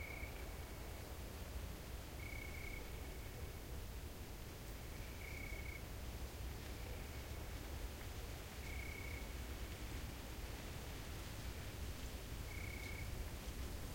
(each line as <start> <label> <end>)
0.0 crickets 1.1
2.2 crickets 3.1
4.9 crickets 5.9
8.6 crickets 9.3
12.4 crickets 13.2